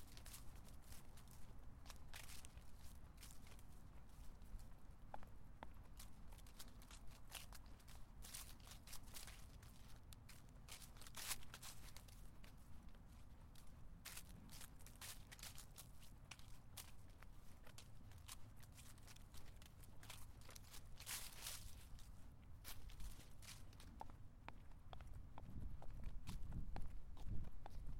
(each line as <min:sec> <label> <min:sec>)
0:00.0 crunchy leaves walking 0:04.4
0:06.0 crunchy leaves walking 0:24.0